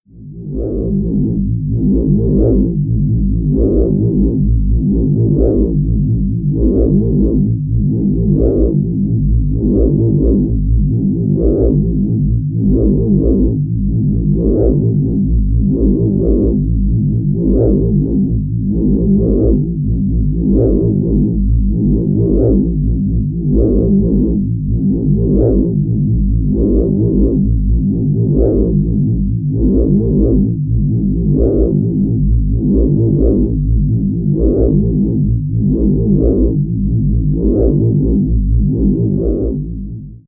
machine or machinery sounds 0.1 - 40.2

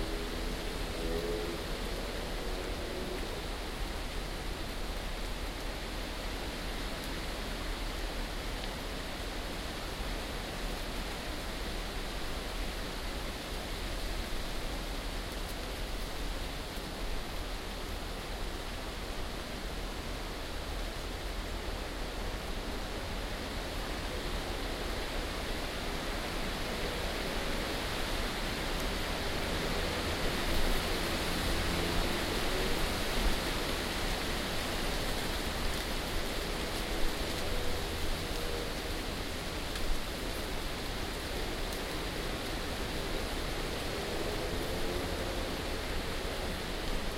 wind 0.0 - 47.1

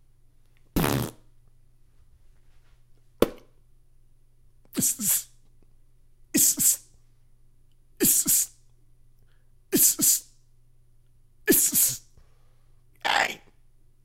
Beatbox sounds 0.8 - 1.1
Beatbox sounds 4.7 - 5.3
Beatbox sounds 6.4 - 6.8
Beatbox sounds 8.0 - 8.5
Beatbox sounds 9.8 - 10.2
Beatbox sounds 11.5 - 12.0

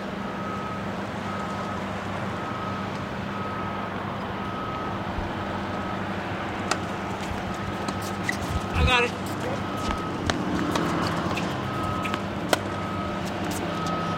Old guys playing tennis 3.0 - 14.1

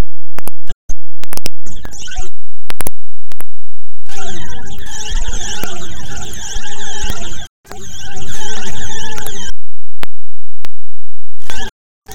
weird noises 4.1 - 9.6

